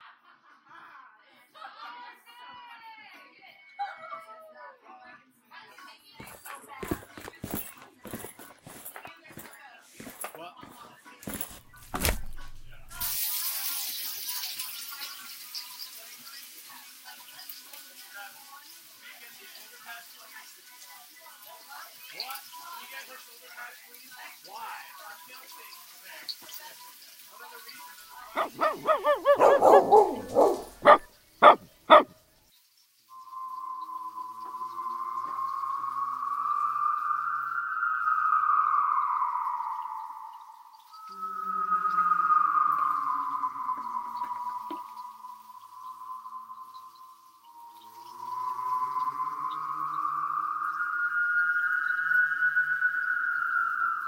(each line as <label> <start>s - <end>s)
boots walking 6.2s - 13.0s
barking 28.3s - 32.1s
boots walking 28.4s - 32.1s
music 33.1s - 37.0s
music 40.3s - 52.6s